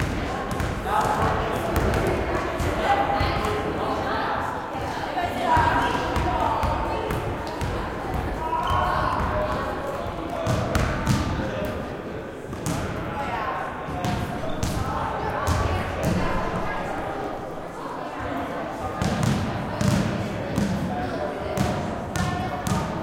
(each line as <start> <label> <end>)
0.0 basketball 3.6
5.6 basketball 11.8
13.9 basketball 16.4
19.0 basketball 21.0
21.6 basketball 23.0